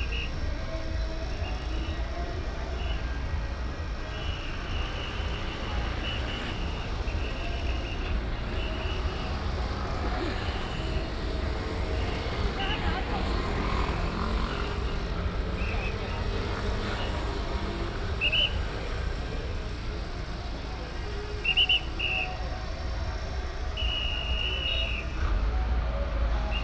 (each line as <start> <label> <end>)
0.0 Traffic sound 26.6
18.2 Whistle sound 19.0
21.4 Whistle sound 22.6
23.8 Whistle sound 25.2